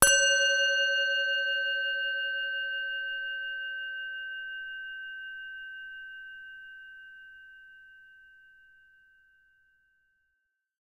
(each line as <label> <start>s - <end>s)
tibetan singing bowl 0.0s - 10.1s